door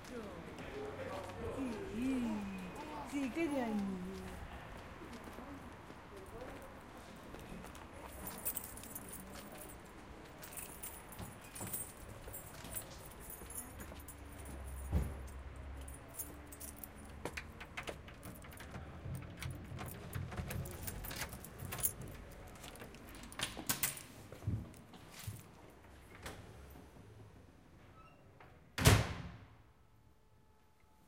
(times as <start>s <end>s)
28.8s 29.4s